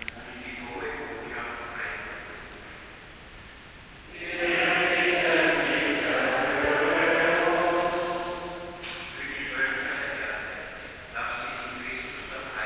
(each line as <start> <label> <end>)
4.1 people 12.6